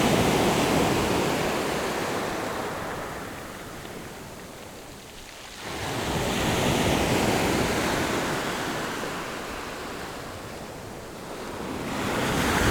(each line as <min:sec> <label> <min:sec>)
0:00.0 waves 0:12.7